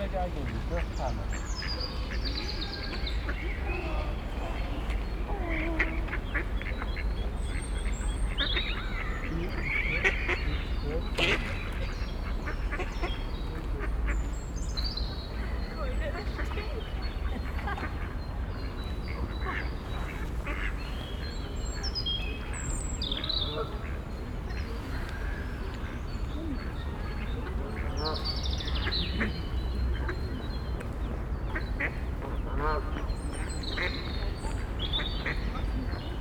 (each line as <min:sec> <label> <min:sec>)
0:00.0 ducks 0:36.2